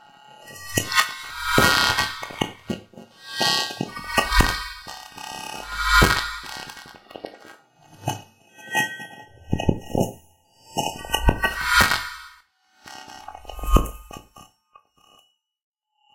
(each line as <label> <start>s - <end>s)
synthetic attacks 0.7s - 7.1s